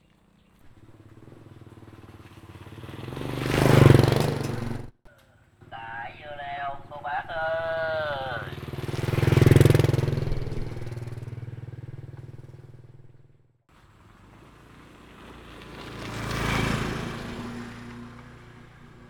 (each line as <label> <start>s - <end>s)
Motorcycle trafic 0.3s - 19.0s